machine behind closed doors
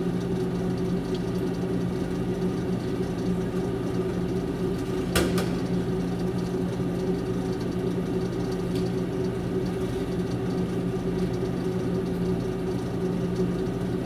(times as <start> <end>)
4.9 5.8